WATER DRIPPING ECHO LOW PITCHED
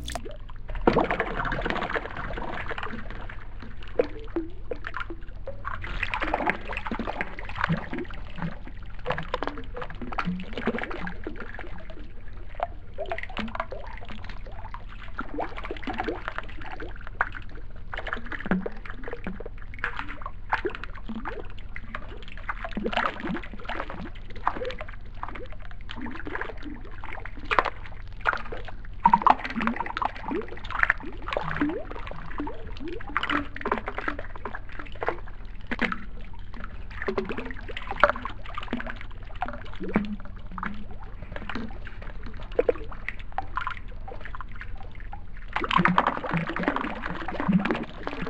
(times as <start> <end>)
0.0 0.6, 20.3 48.2